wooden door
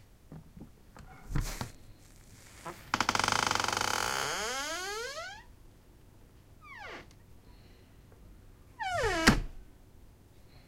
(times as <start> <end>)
8.8 9.6